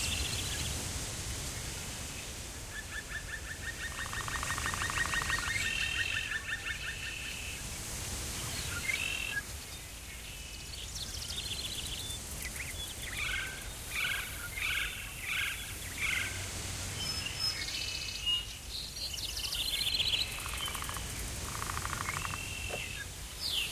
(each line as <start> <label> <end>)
0.0 birds 23.7
0.0 wind 23.7
18.7 bugs 23.7